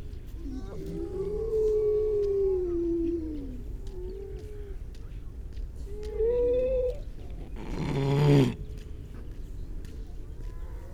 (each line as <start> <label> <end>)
0.4 grey seals 4.8